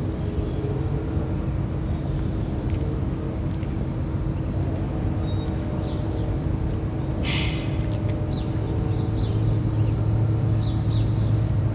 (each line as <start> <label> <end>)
0.0 distant machine hums 11.7